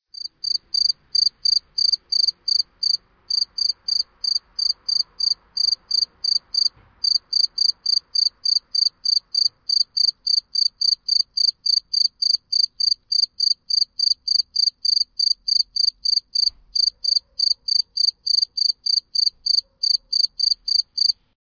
0.2s prototypical cricket sound 21.2s

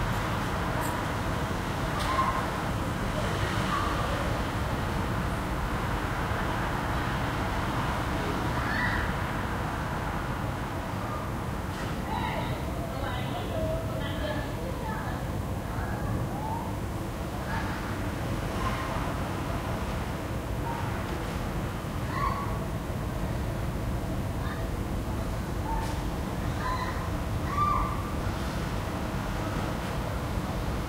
0.0s moderate, yet constant traffic 30.8s

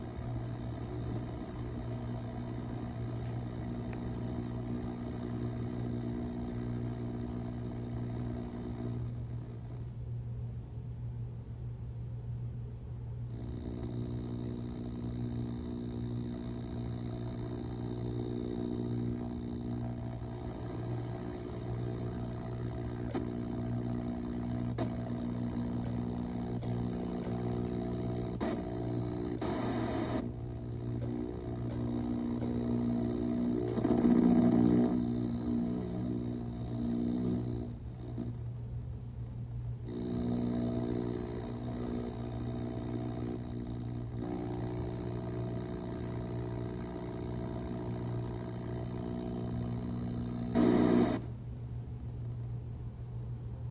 0.0s Analog CRT TV electronic static noise 10.2s
10.8s Analog CRT TV electronic static noise 53.7s

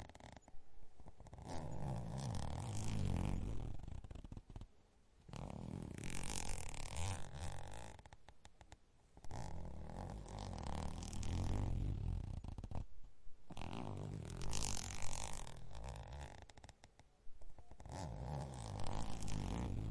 0.0s Zipper sound 4.7s
5.3s Zipper sound 8.2s
9.2s Zipper sound 12.9s
13.5s Zipper sound 16.8s
17.6s Zipper sound 19.9s

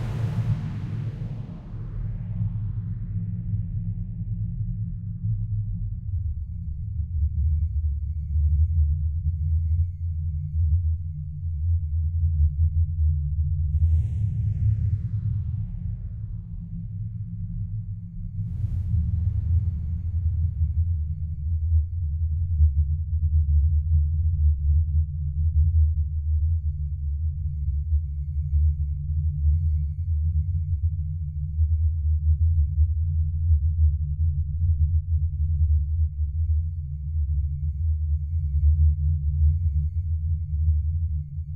0.0s drone 8.8s
0.0s repetitive rumble sounds 9.8s
13.5s repetitive rumble sounds 24.6s
13.8s drone 22.8s

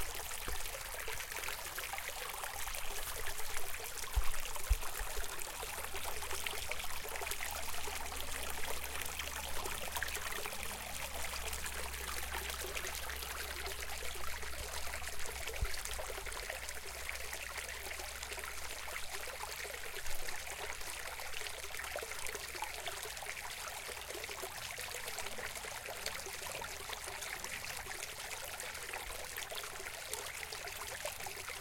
0.0s small stream 31.6s

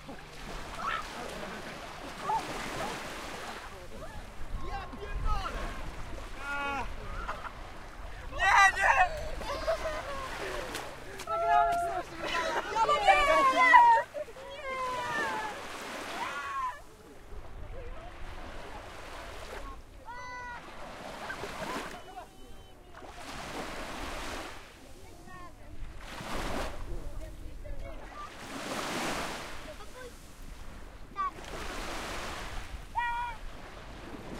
0.0s Voices of children laughing 3.0s
0.0s Walking on the beach 34.3s
0.0s waves 34.3s
6.4s Voices of children laughing 15.6s

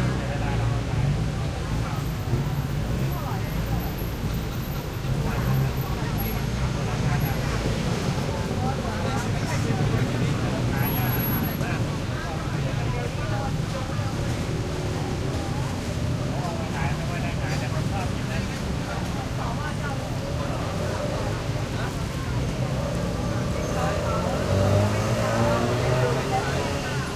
0.0s light traffic 27.1s
0.0s motorcycles 27.1s
0.0s pedestrians 27.1s

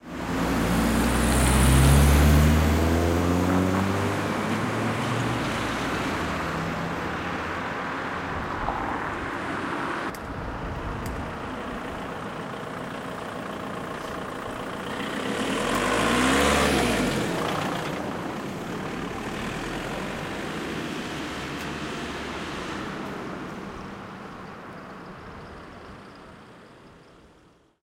0.0s Cars driving in a curve 27.8s

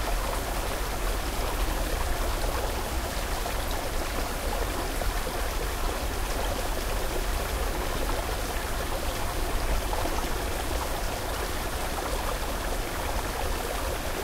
0.0s waterfall 14.2s

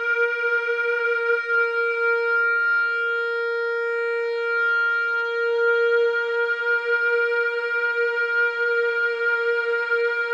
0.0s EBow guitar drone 10.3s

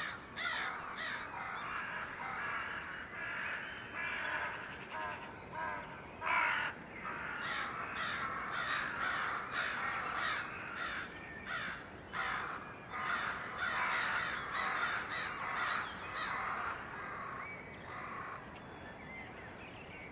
0.0s crows 18.5s

